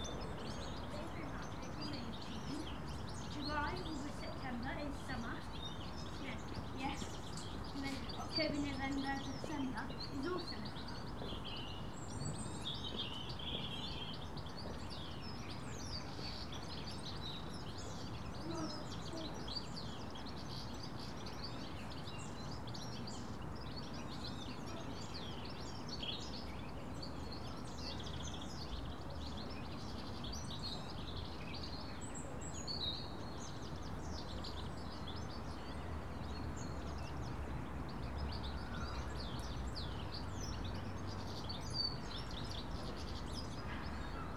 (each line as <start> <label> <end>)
0.0 Birds 44.3